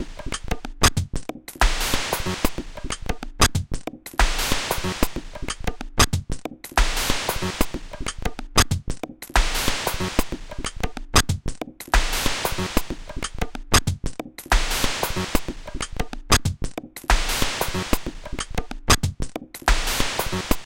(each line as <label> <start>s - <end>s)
percussion 0.0s - 20.6s